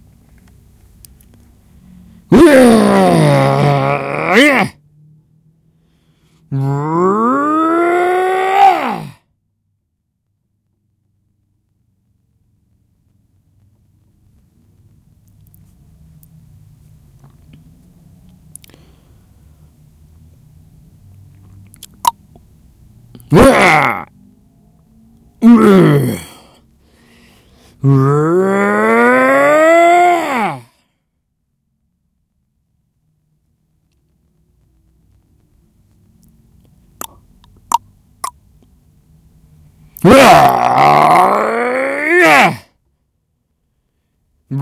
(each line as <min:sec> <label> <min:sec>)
0:02.3 Angry man emotions reactions 0:04.8
0:06.5 Angry man emotions reactions 0:09.2
0:23.3 Angry man emotions reactions 0:24.1
0:25.4 Angry man emotions reactions 0:26.6
0:27.8 Angry man emotions reactions 0:30.7
0:40.0 Angry man emotions reactions 0:42.7